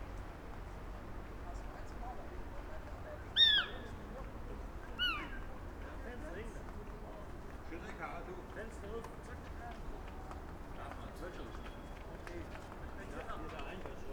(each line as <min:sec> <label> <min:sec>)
0:03.3 small owl 0:03.9
0:05.0 small owl 0:05.4